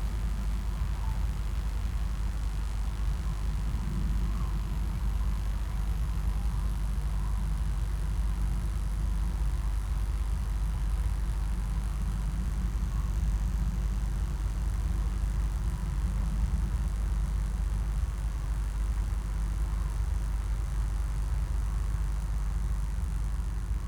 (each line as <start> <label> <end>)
0.0 crackling high voltage power line 23.8